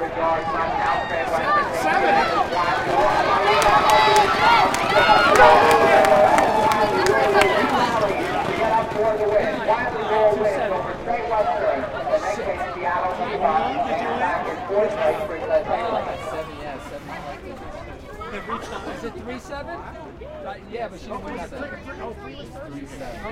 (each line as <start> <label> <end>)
0.0 crowd at the fence during a race 23.3
2.2 horse 12.1